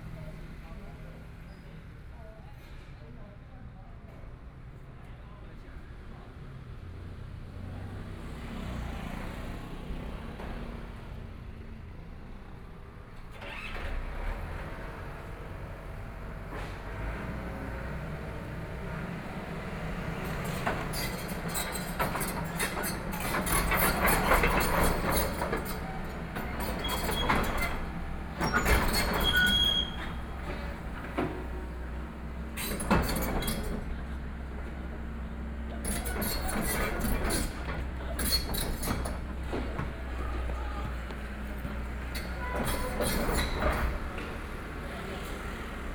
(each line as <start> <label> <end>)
6.3 Traffic Sound 45.9
13.1 Construction Sound 45.9